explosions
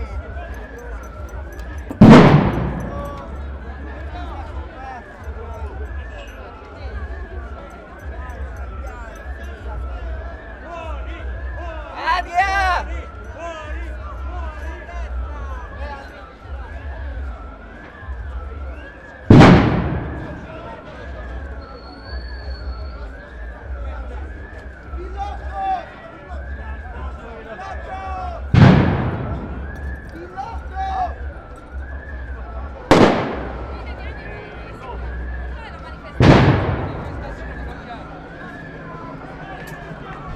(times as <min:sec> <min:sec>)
0:02.0 0:03.3, 0:19.3 0:20.8, 0:28.5 0:30.0, 0:32.9 0:33.9, 0:36.2 0:37.7